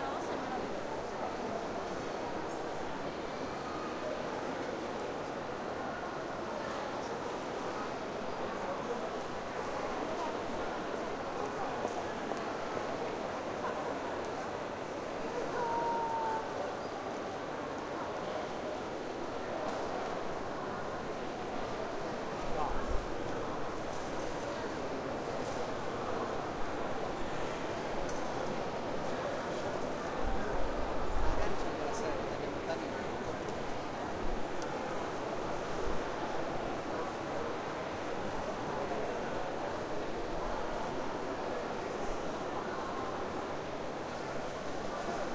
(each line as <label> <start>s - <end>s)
Train 0.0s - 45.3s